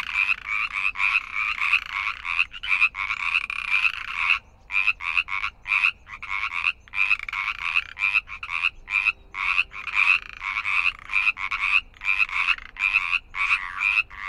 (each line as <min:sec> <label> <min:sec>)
0:00.0 frogs 0:14.2